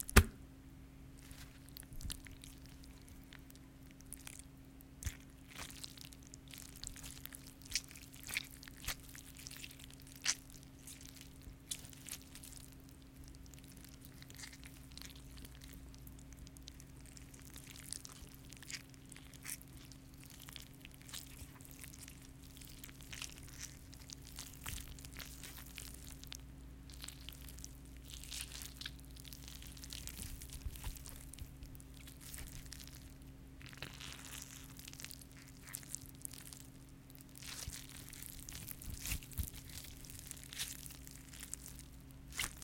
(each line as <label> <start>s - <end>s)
wet flesh being squeezed 1.2s - 42.6s